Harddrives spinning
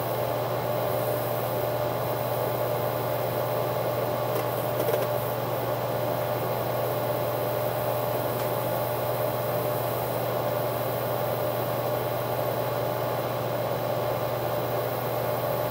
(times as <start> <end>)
4.2 5.4